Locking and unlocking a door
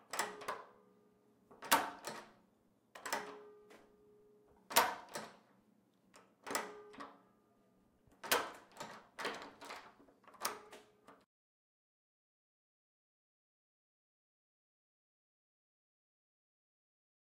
0:00.0 0:00.8, 0:01.5 0:02.4, 0:03.0 0:03.9, 0:04.6 0:05.5, 0:06.1 0:07.2, 0:08.1 0:11.2

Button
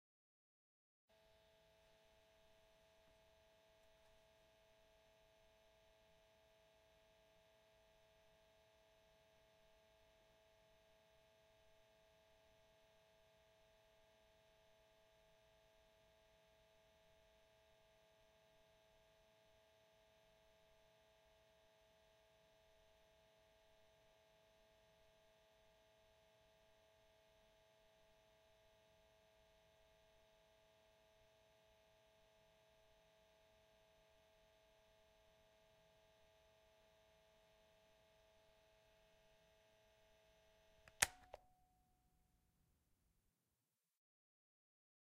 0:40.9 0:41.6

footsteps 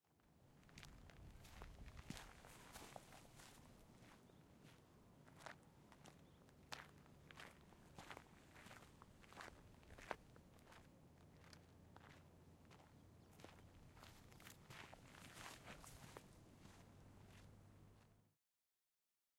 0:01.4 0:04.2, 0:13.4 0:17.5

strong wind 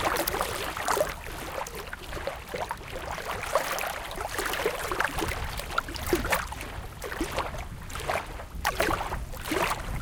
0:04.9 0:10.0

